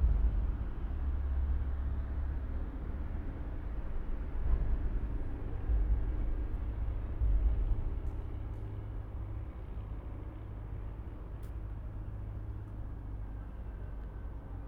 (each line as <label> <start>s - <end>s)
Trains on Floridsdorf bridge 0.0s - 14.6s